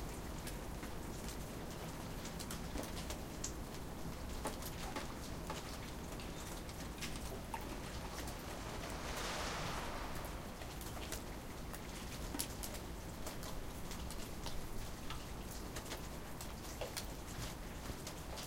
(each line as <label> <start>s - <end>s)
raindrops 0.0s - 18.4s
snow sliding of roofs 6.8s - 11.2s